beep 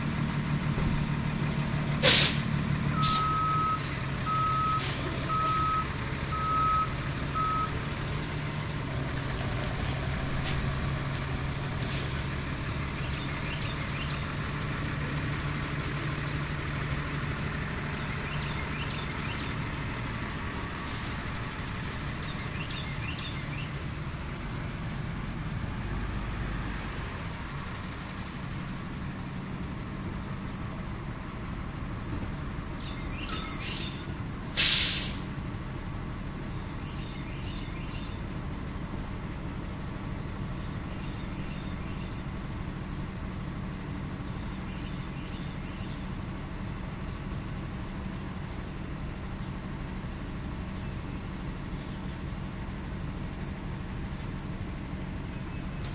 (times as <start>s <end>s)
3.0s 7.7s